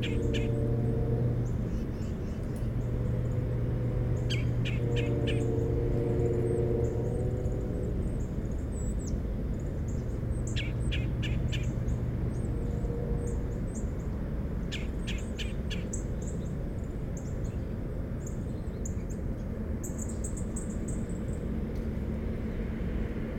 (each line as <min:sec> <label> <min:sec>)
0:00.0 automobile traffic 0:23.3